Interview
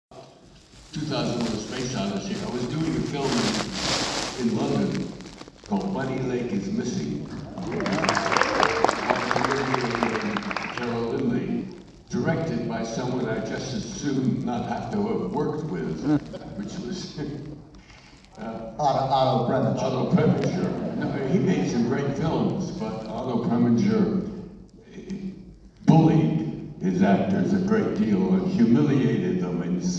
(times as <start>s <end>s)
12.2s 17.4s